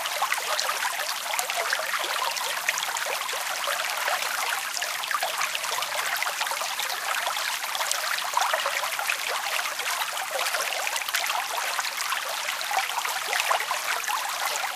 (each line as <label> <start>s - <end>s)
river 0.0s - 14.7s